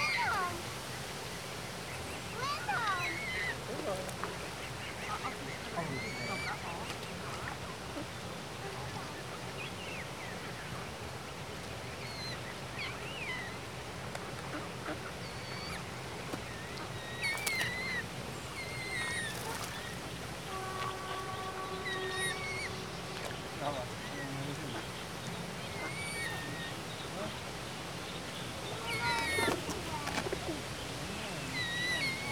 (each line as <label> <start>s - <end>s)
swan with a few cygnets 0.0s - 32.3s
ducks and their young 1.6s - 32.3s
pigeons basking and fighting with each other 18.6s - 20.2s
pigeons basking and fighting with each other 28.7s - 32.3s